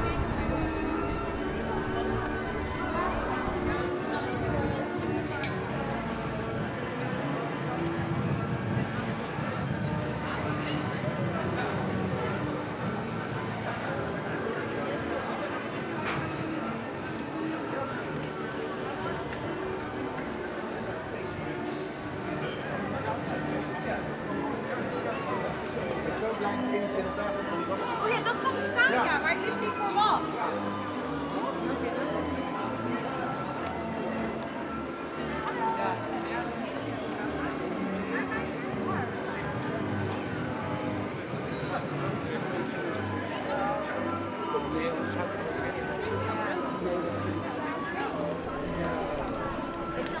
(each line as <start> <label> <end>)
0.0 succession of tramway passages 5.4
0.0 street musicians acting a automatic harmonium 50.2